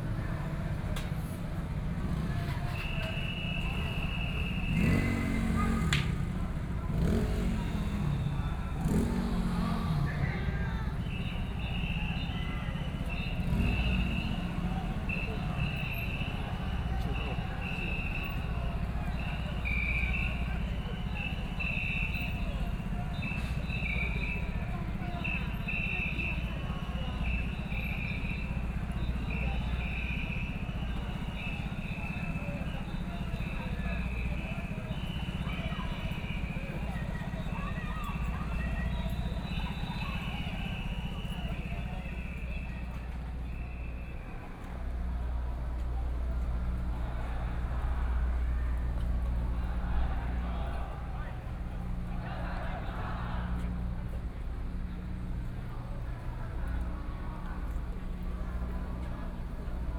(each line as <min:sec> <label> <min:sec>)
0:00.0 Students and people flee 0:59.9
0:01.5 violent protests 0:59.9